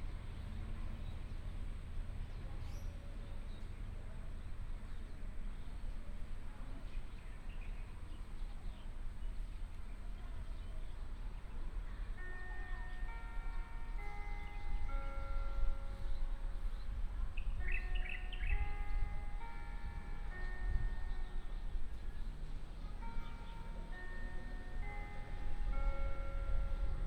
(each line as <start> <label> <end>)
6.8 birds sound 26.7